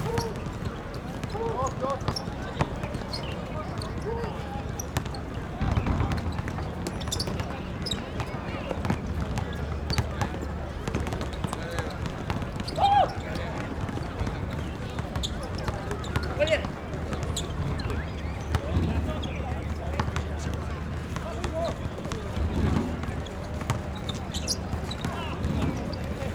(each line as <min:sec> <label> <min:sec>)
0:00.0 Play basketball 0:26.3